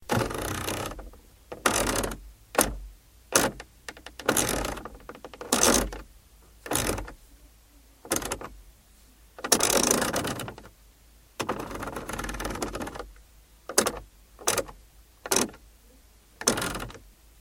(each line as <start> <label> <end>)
0.0 circular car air conditioning knob being turned 7.2
8.1 circular car air conditioning knob being turned 8.5
9.4 circular car air conditioning knob being turned 10.7
11.4 circular car air conditioning knob being turned 13.1
13.7 circular car air conditioning knob being turned 15.6
16.4 circular car air conditioning knob being turned 17.0